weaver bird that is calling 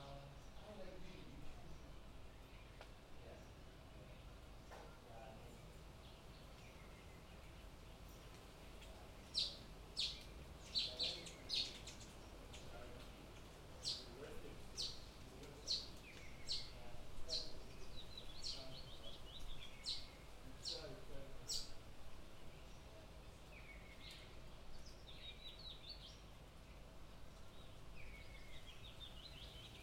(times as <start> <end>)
14.7 21.8